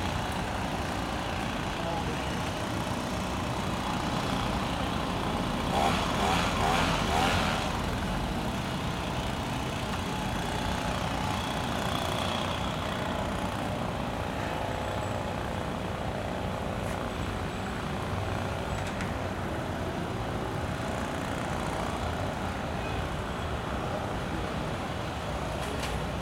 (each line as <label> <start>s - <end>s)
Leaf blower 0.0s - 14.8s
traffic 0.0s - 26.2s